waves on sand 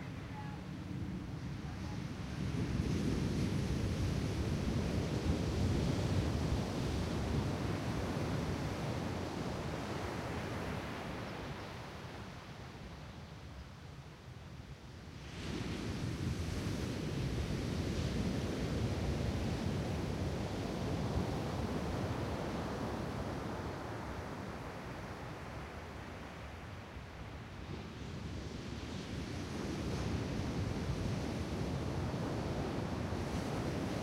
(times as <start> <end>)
15.2 34.0